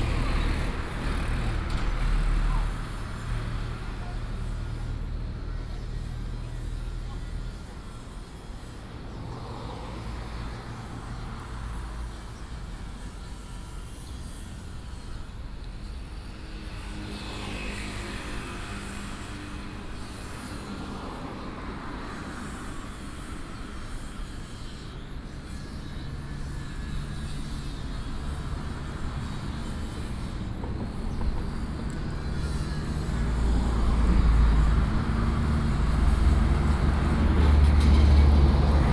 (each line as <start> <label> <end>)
0.0 Traffic Sound 38.9